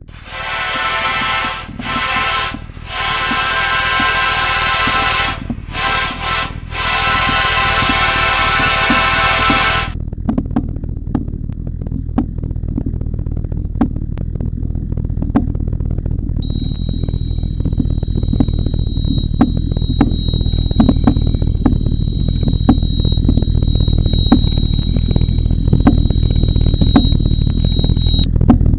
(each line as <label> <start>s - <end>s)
horn 0.1s - 9.9s